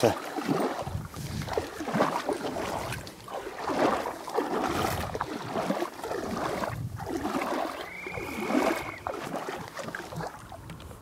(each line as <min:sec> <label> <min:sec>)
0:00.0 Wading through water 0:11.0